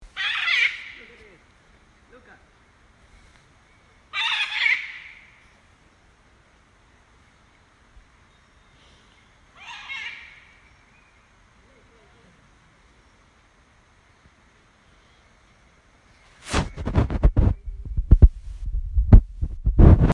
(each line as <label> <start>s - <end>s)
parrot flew over my head 16.4s - 20.1s